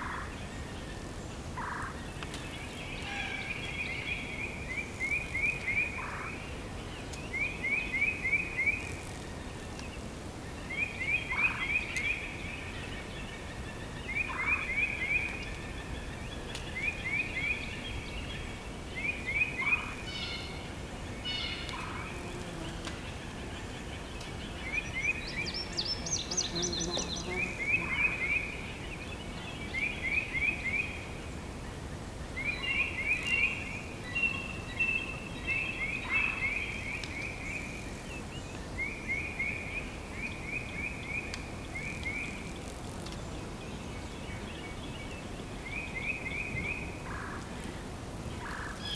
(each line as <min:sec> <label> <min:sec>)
0:00.0 birds are singing 0:48.9